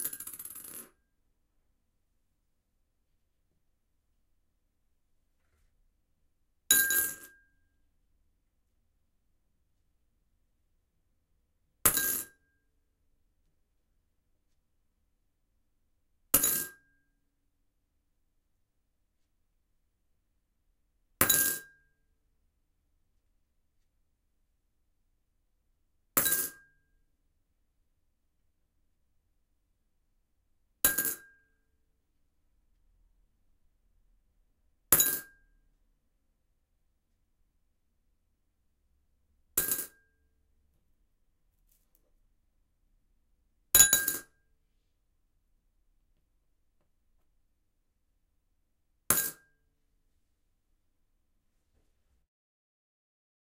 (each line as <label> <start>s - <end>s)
coins, which i dropped in a ceramic bowl 0.0s - 1.1s
coins, which i dropped in a ceramic bowl 6.7s - 7.4s
coins, which i dropped in a ceramic bowl 11.9s - 12.5s
coins, which i dropped in a ceramic bowl 16.4s - 16.9s
coins, which i dropped in a ceramic bowl 21.2s - 21.8s
coins, which i dropped in a ceramic bowl 26.2s - 26.7s
coins, which i dropped in a ceramic bowl 30.9s - 31.5s
coins, which i dropped in a ceramic bowl 35.0s - 35.4s
coins, which i dropped in a ceramic bowl 39.6s - 40.3s
coins, which i dropped in a ceramic bowl 43.8s - 44.5s
coins, which i dropped in a ceramic bowl 49.1s - 49.7s